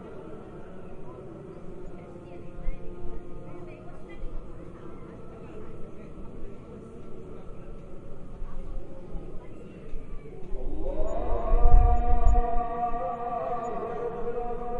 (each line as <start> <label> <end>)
10.5 call to prayer 14.7